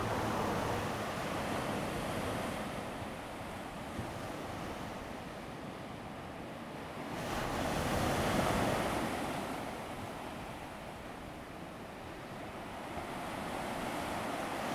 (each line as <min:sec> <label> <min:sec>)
0:00.0 Traffic Sound 0:01.8
0:00.0 waves 0:03.0
0:12.3 waves 0:14.7